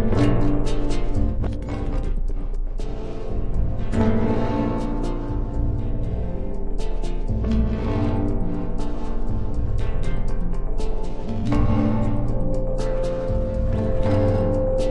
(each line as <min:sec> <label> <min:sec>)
0:00.0 pad 0:10.2